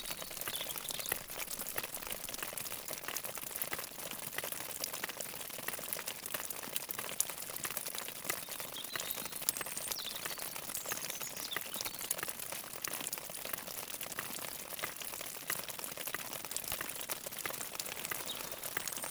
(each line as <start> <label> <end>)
0.0 small stream, with a large part completely frozen 19.1